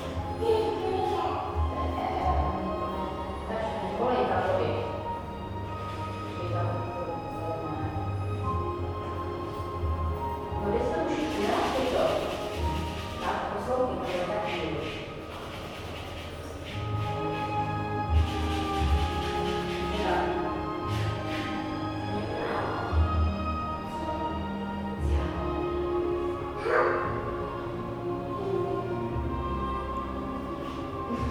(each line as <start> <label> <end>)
0.0 piano 31.3
9.8 dancing 22.4